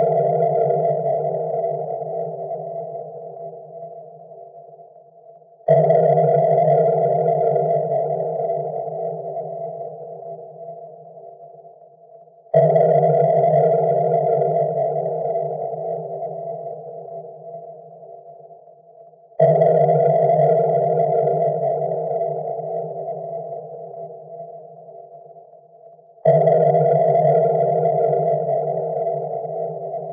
0.0s Slow higher-pitch sonar pings with a long decay 30.1s

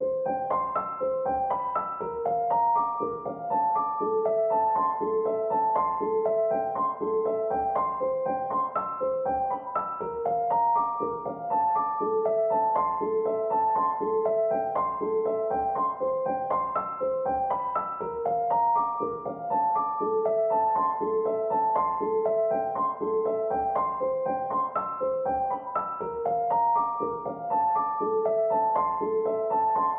0.0s piano 29.9s

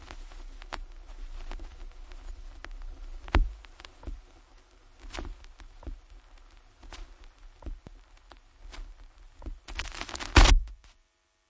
0.0s Vinyl Runout Groove 11.1s
0.0s crackle 11.4s

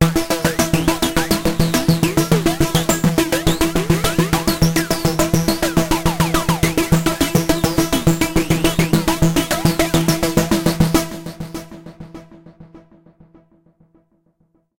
0.0s arpeggiated loop 11.0s

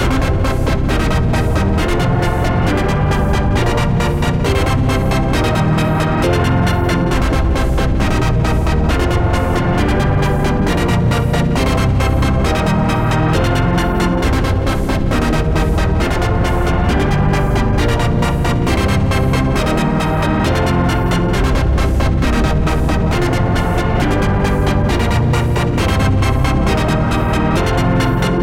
0.0s synth 28.4s

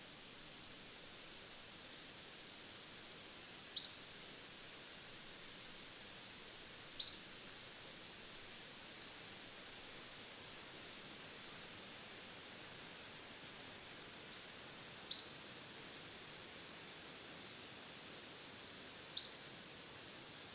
0.0s Insects 20.5s
0.0s river of wind steadily swirling around the Oaks 20.5s
3.7s single, solitary bird 4.0s
7.0s single, solitary bird 7.3s
15.0s single, solitary bird 15.4s
19.1s single, solitary bird 19.4s

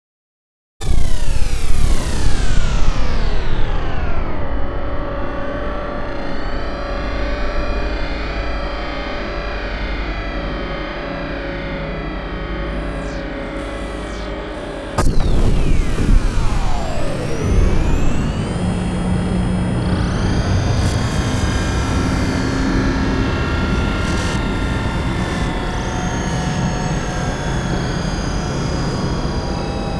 10.1s deep, low-frequency drone with sub-bass resonance 29.9s

